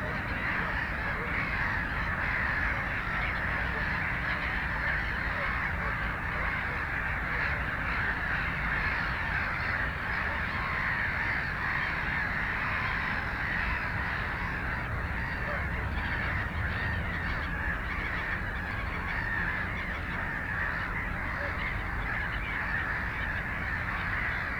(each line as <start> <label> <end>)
0.0 canada geese 24.5